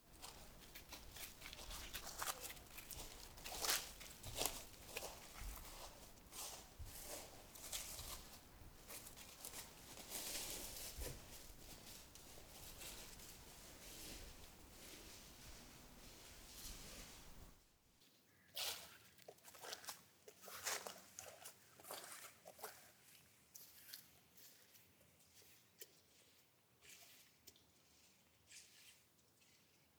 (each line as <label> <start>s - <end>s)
walking slow in forest 0.0s - 29.8s